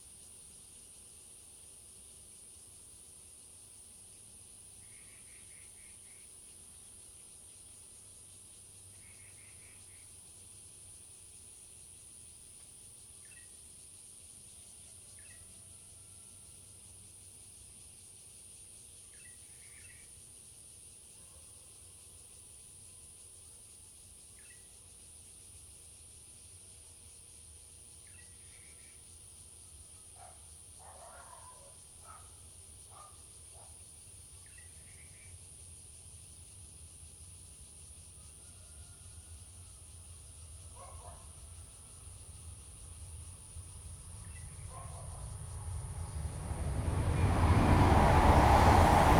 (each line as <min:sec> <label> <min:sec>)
0:00.0 Cicadas sound 0:49.1
0:42.2 The train passes through 0:49.1